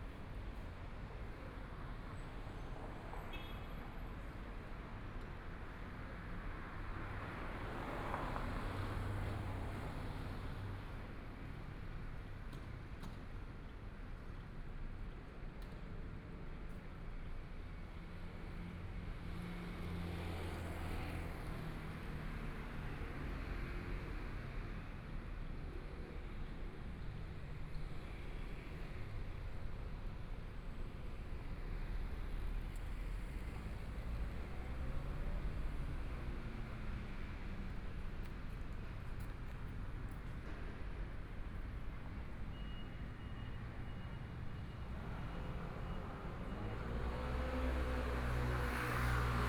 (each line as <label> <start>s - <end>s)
walk in the road 0.0s - 49.4s
Traffic Sound 25.7s - 49.4s